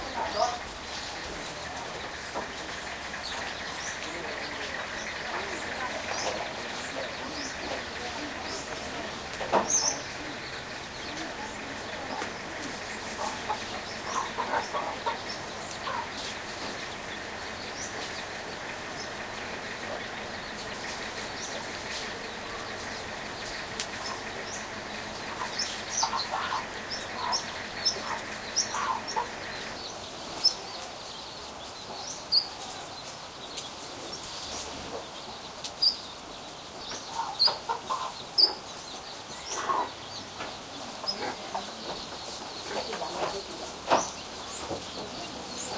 0.0s birds 45.7s
0.0s occasional bg vehicle 45.7s

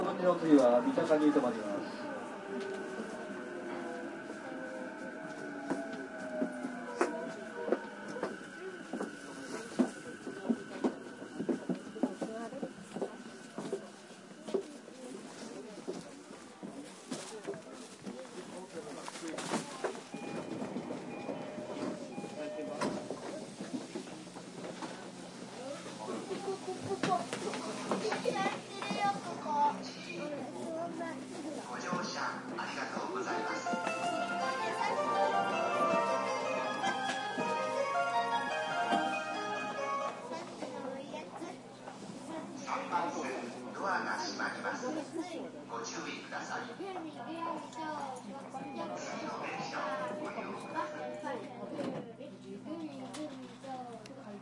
20.2s train door closing 25.0s

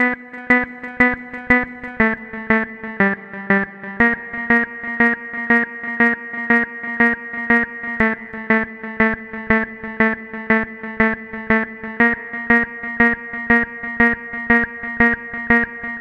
0.0s Intro-Synth 16.0s

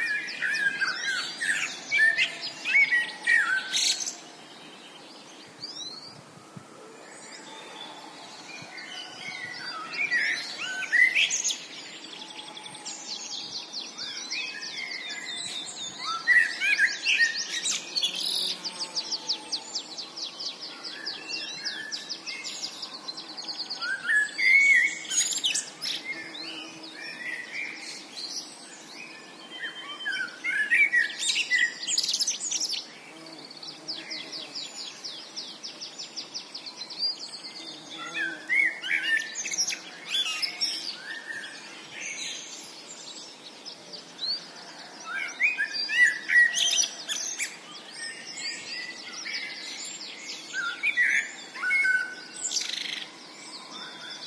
0.0s birds singing 54.2s
7.1s Blackbird 54.2s

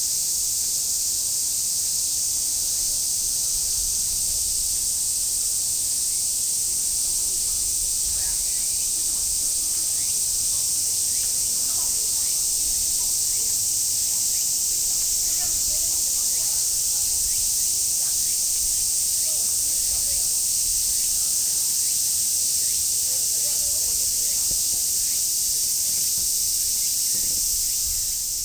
0.0s Crickets 28.4s

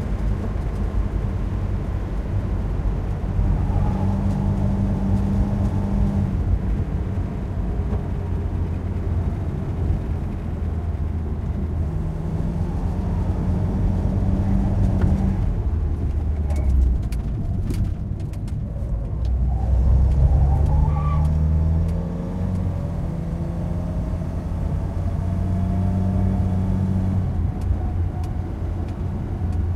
0.0s driving on asphalt on a winding road 29.7s

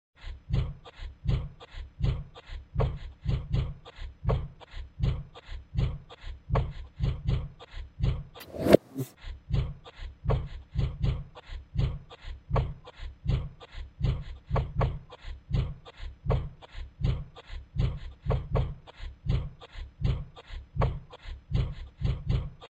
8.4s loud reversal of sound 9.1s

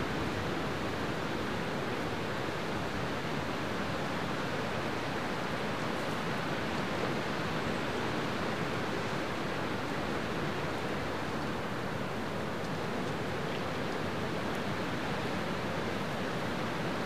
0.0s strong spring wind gusts through a stand of mature, tall White Pines 17.0s

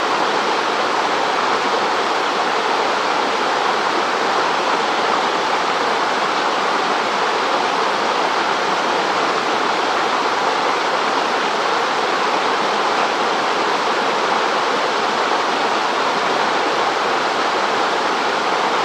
0.0s small waterfall 18.8s

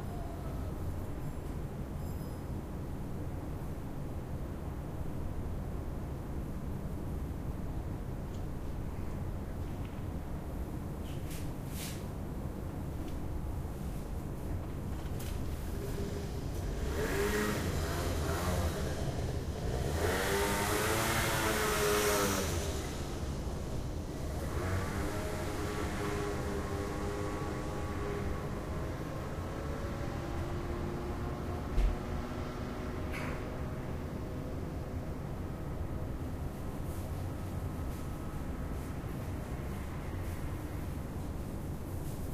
0.0s urban noise 42.3s
14.9s scooter approaches and holds still 34.6s

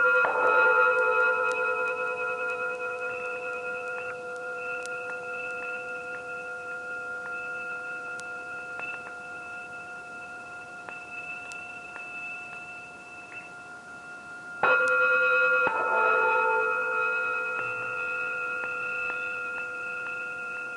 0.0s bells warble 20.7s

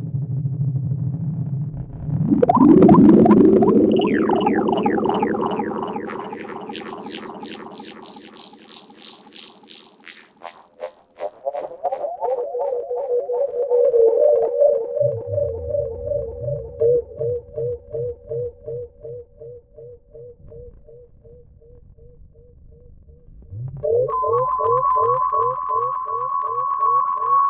0.0s drone 27.4s

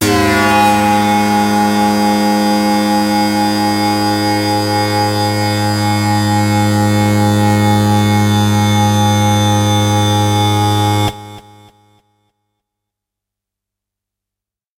0.0s hard, harsh lead sound 11.4s

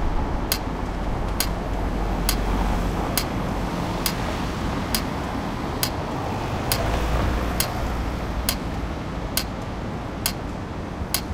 0.0s Pedestrian Crossing Lights Sound 11.3s

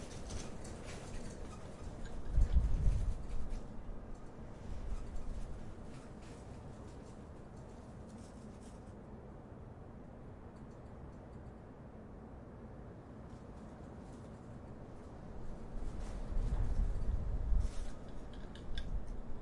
0.0s european windstorm 7.9s
13.2s european windstorm 19.4s

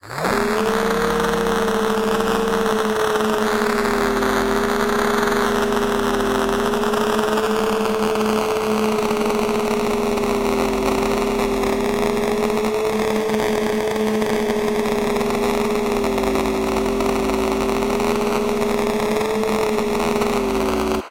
0.3s radio of the main character in its default idle state 21.1s

